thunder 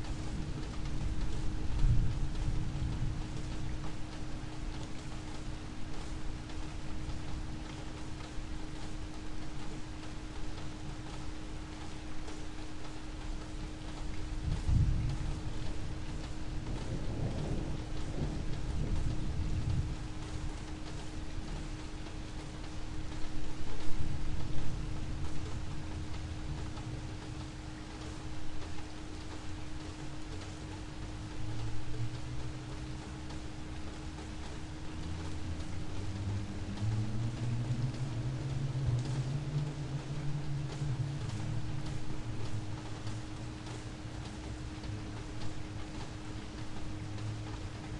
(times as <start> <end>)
16.6 20.0